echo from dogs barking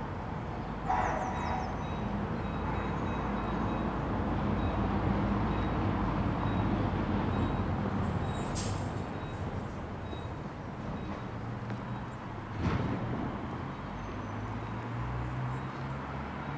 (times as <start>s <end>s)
0.8s 3.3s